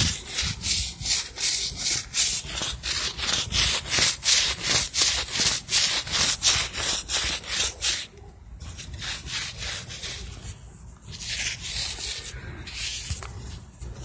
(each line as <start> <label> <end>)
0.0 Metal scrubber against jeans 14.0